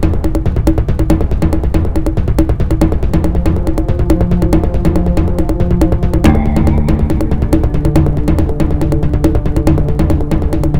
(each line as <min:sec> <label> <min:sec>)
0:00.0 bass 0:10.7
0:00.0 bassdrum acoustic 0:10.7
0:03.3 stringpad 0:10.7